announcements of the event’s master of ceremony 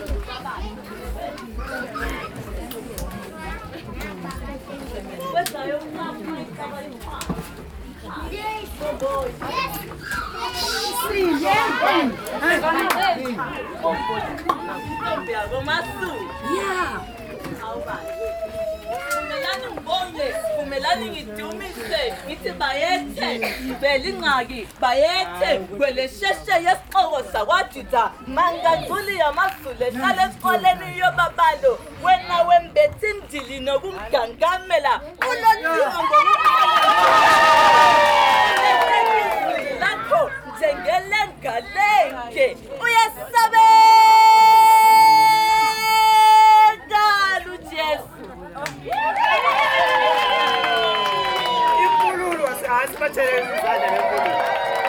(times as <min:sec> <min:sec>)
0:50.2 0:54.8